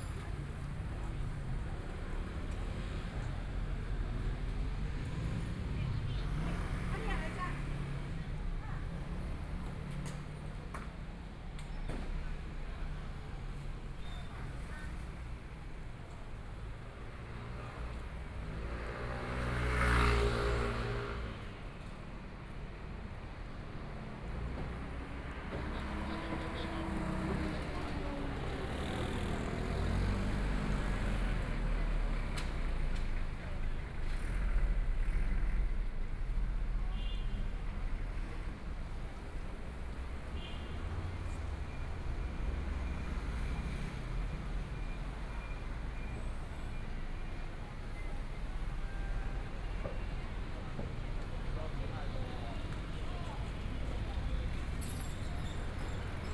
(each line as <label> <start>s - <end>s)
Traffic Sound 0.0s - 56.3s
walking in the Street 0.0s - 56.3s